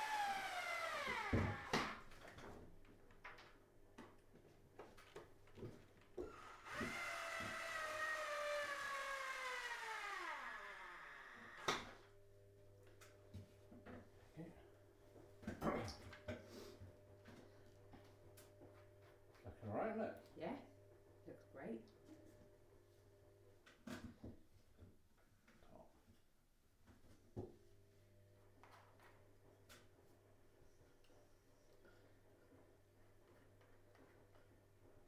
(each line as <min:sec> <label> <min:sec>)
0:00.0 drilling 0:02.1
0:00.4 getting up and down off the ladder 0:02.6
0:06.2 drilling 0:12.0